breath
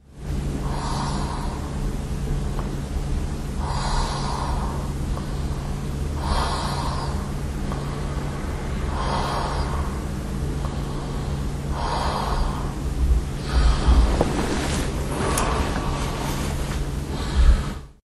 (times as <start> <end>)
3.6 8.2, 8.9 12.8, 13.4 17.9